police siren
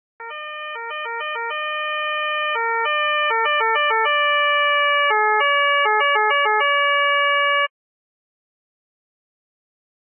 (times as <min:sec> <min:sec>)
0:00.2 0:07.7